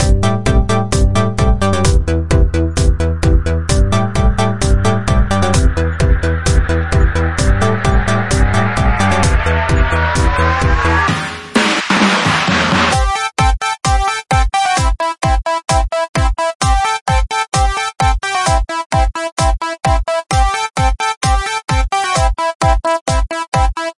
Trance Beat 0:00.0 - 0:13.2

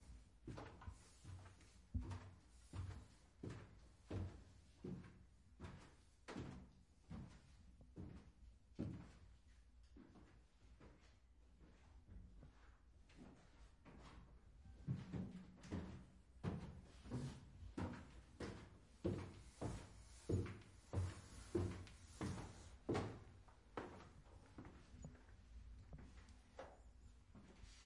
walking up and down the stairs 0:00.0 - 0:27.8

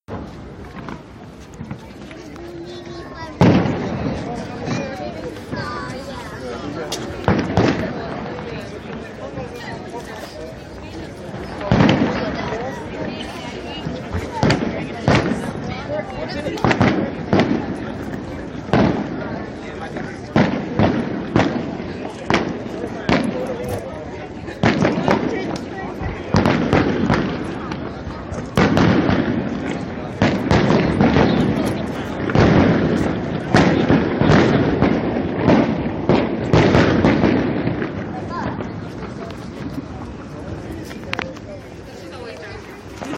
city noise 0:00.0 - 0:43.1
footsteps 0:00.1 - 0:03.5
fireworks exploding in the background 0:00.1 - 0:43.1
Voices 0:00.1 - 0:43.1
footsteps 0:04.1 - 0:07.4
footsteps 0:38.3 - 0:43.1

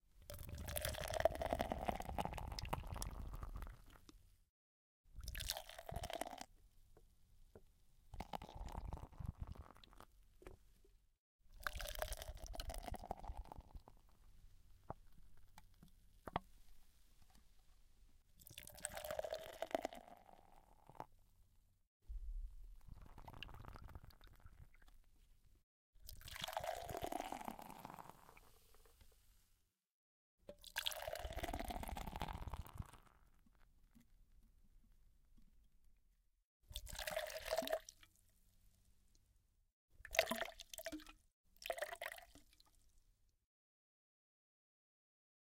pouring can 0:26.2 - 0:28.3
pouring can 0:30.7 - 0:33.0

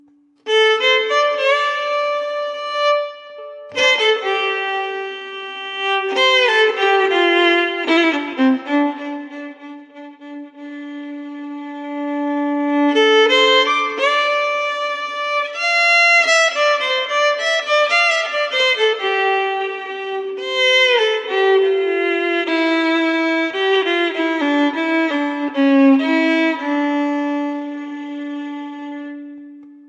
bluesy violin lick 0:00.0 - 0:29.8

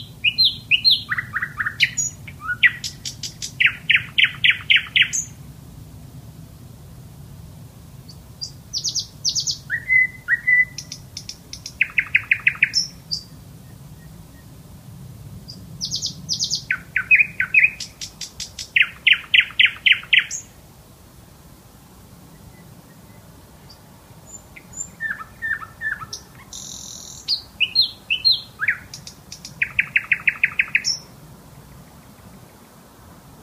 Nightingale Bird Sings his song 0:00.0 - 0:05.4
Nightingale Bird Sings his song 0:08.0 - 0:14.6
Nightingale Bird Sings his song 0:15.4 - 0:20.6
Nightingale Bird Sings his song 0:22.2 - 0:31.2

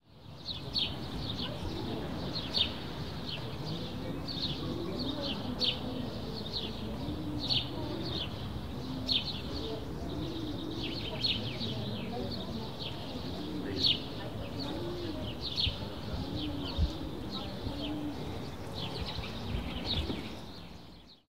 hum of road far away 0:00.1 - 0:21.2
birds 0:00.1 - 0:21.2

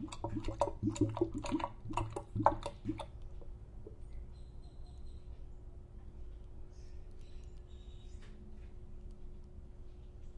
washing machine draining as heard from the drain 0:00.0 - 0:03.1
distant washing machine sounds 0:00.0 - 0:04.0

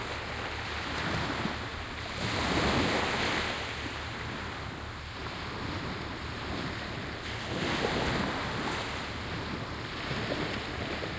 waves 0:00.0 - 0:11.1

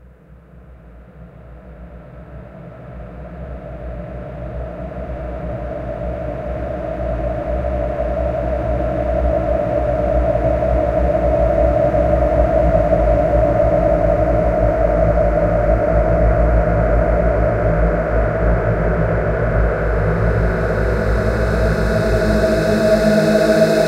Drone 0:04.9 - 0:23.8

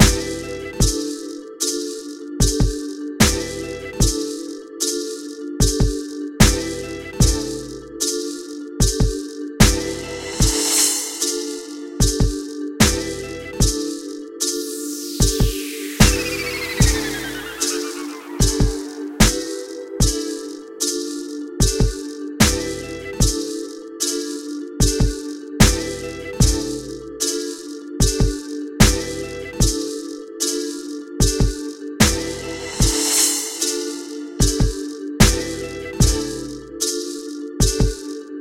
Hip-Hop Loop 0:00.0 - 0:38.4

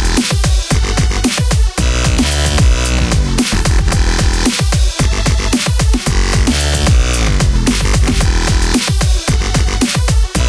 bassline 0:00.0 - 0:10.4
drums 0:00.0 - 0:10.4
synth leads 0:02.5 - 0:05.5

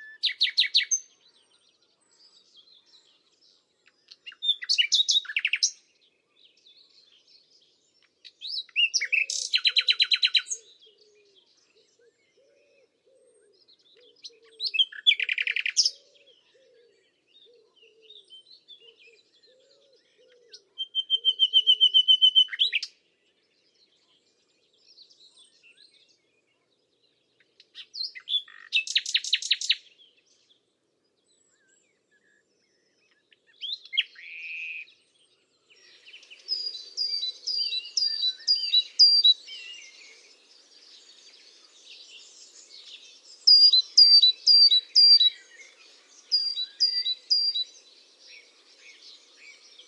pheasant 0:00.0 - 0:05.8
green woodpecker 0:03.8 - 0:05.9
Nightingale 0:08.0 - 0:11.8
pheasant 0:08.0 - 0:23.0
moorhen 0:08.2 - 0:22.9
green woodpecker 0:08.2 - 0:23.0
Blackcap 0:08.3 - 0:10.6
Nightingale 0:26.4 - 0:30.6
pheasant 0:27.3 - 0:29.9
green woodpecker 0:27.4 - 0:29.9
Blackcap 0:27.5 - 0:29.8
green woodpecker 0:32.7 - 0:49.8
Nightingale 0:33.0 - 0:49.8
moorhen 0:33.0 - 0:35.0
pheasant 0:35.7 - 0:49.8
Blackcap 0:35.9 - 0:40.0
Blackcap 0:42.0 - 0:47.7

